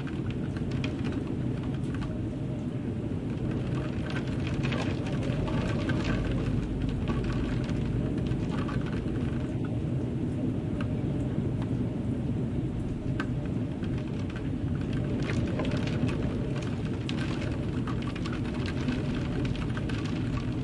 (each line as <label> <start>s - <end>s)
rain on a window 0.0s - 20.6s
wind 0.0s - 20.6s